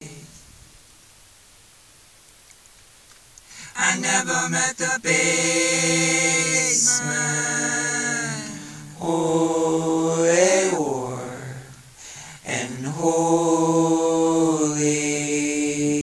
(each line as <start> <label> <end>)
0.0 Vocals 0.5
3.4 Vocals 16.0